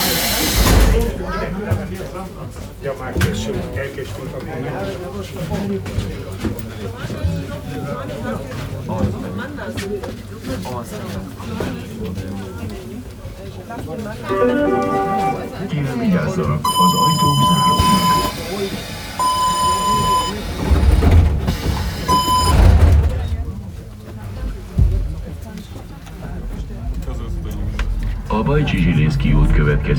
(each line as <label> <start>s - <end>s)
Historical subway train 0.0s - 29.9s
people 14.2s - 29.9s